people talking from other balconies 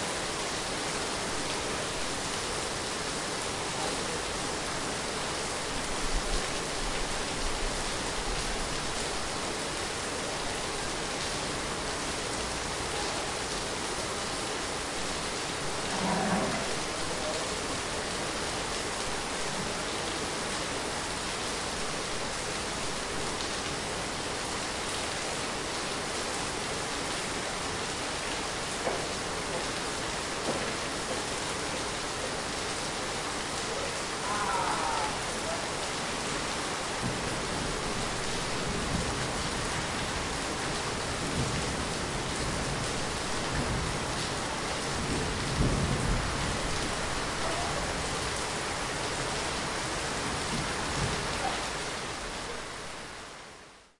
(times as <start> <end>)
47.4 48.0